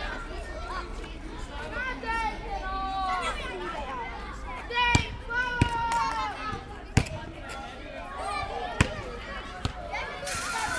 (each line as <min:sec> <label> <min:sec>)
0:00.0 kids playing on school yard 0:10.7